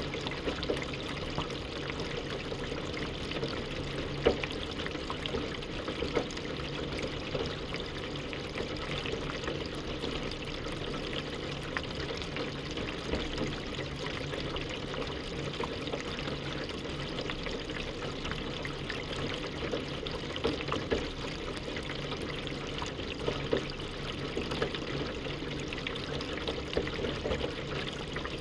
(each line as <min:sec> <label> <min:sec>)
0:00.0 Water gushing down the drainpipe 0:28.4